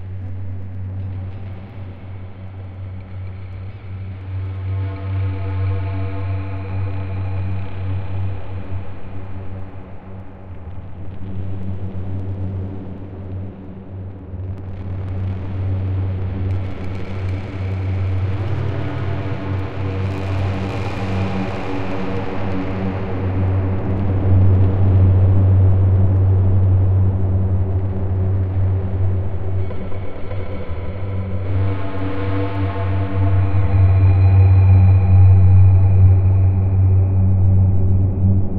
0.0s dark rumbly drone 38.5s

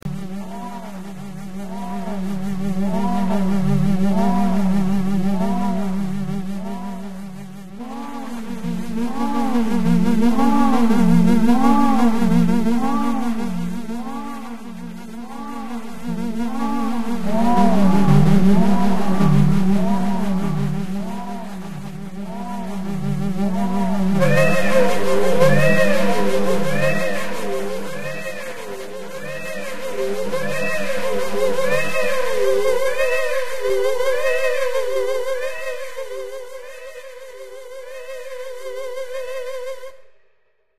0.0s SYnthetic sounds of varying frequencies 40.1s

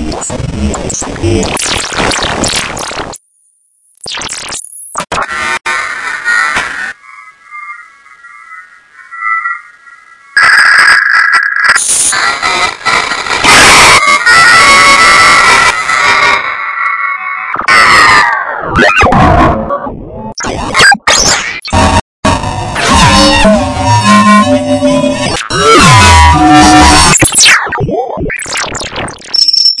18.6s synth 29.8s

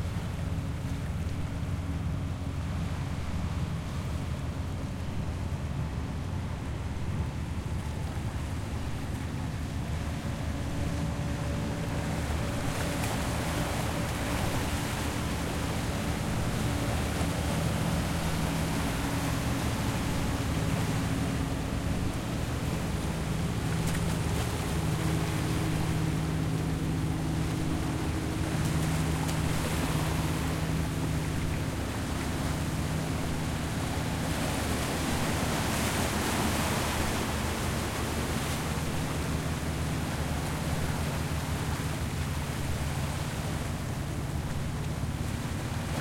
0.0s fishing boats can be heard passing 46.0s

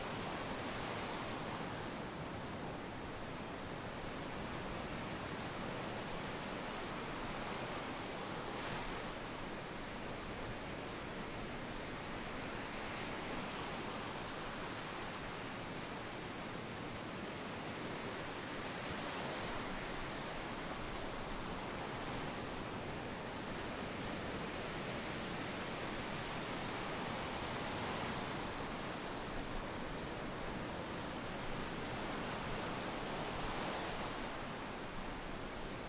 0.0s waves rolling onto shore 35.8s

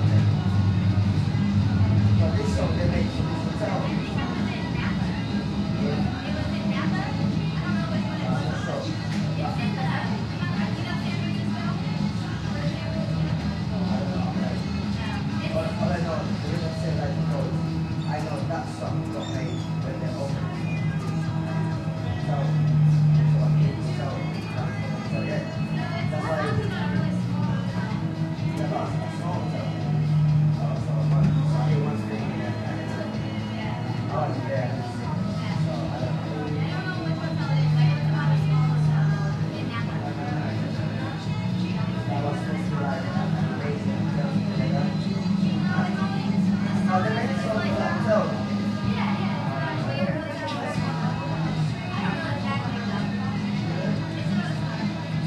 0.0s people voices 55.2s
0.0s radio music 55.2s

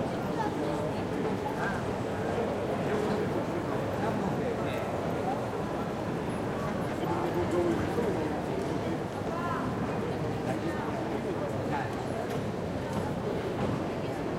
0.0s people are walking around the recorder 14.3s

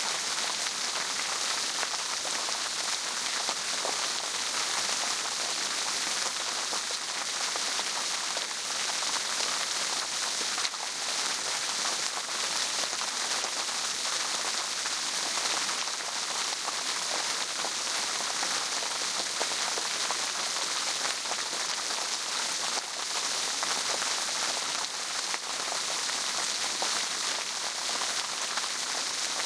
0.0s Fountain 29.4s

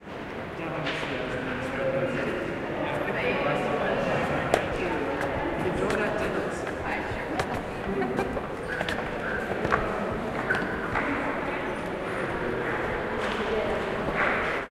0.0s general background noise from ventilation and heating systems 14.7s
0.6s voices 14.7s
4.0s Footsteps on the great staircases 14.7s

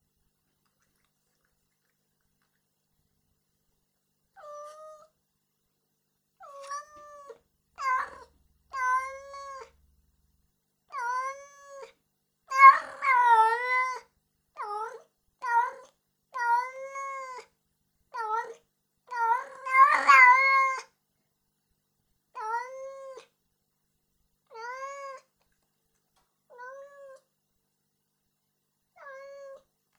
4.4s young female cat meowing 5.1s
6.4s young female cat meowing 9.7s
12.5s young female cat meowing 17.5s
18.2s young female cat meowing 20.9s
24.5s young female cat meowing 25.3s
26.5s young female cat meowing 27.3s
29.0s young female cat meowing 29.7s

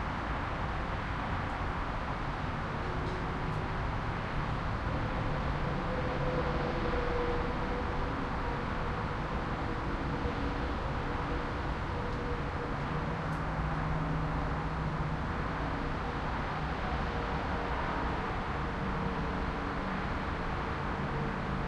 0.0s traffic 21.6s
0.0s wind 21.6s

